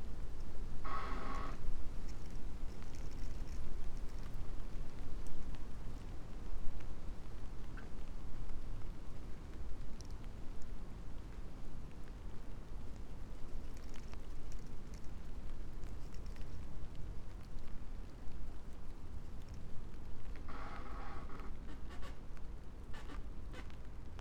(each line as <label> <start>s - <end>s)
creaking tree 0.8s - 4.6s